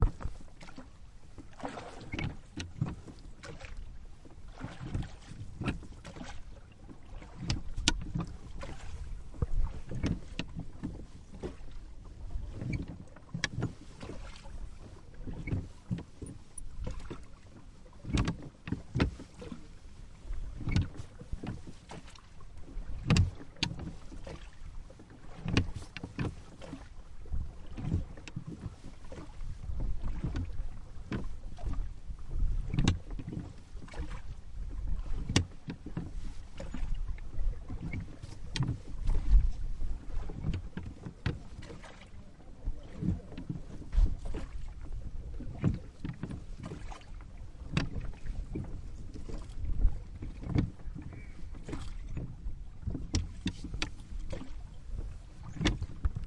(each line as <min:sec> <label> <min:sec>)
0:00.0 rowing boat from inside 0:56.2
0:00.0 splashing sound as the oar dips into the water 0:56.2
0:00.0 creaking rowlocks 0:03.9
0:04.5 creaking rowlocks 0:56.2